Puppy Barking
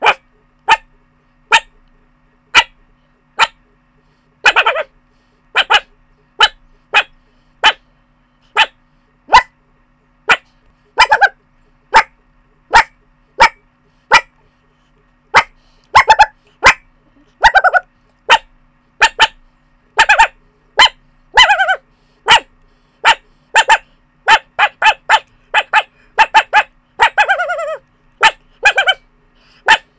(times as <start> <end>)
0.0 0.9, 1.5 1.8, 2.5 2.8, 3.4 3.6, 4.4 4.9, 5.5 7.9, 8.5 9.6, 10.3 14.4, 15.3 19.4, 20.0 29.9